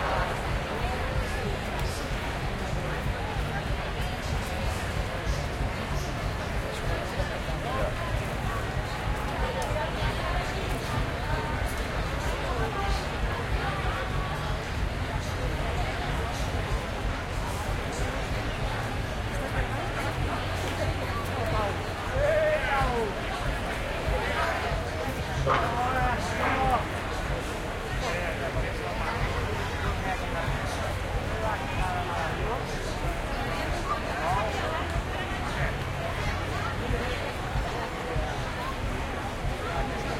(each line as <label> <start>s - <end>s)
BUSY STREET CROWD 0.0s - 40.1s